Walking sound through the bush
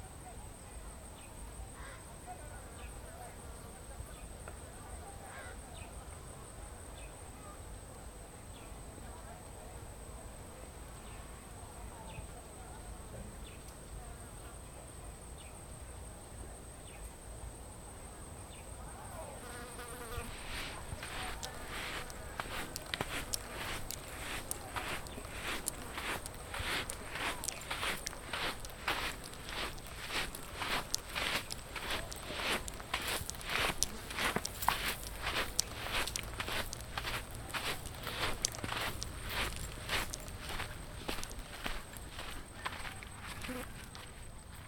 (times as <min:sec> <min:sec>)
0:19.4 0:44.6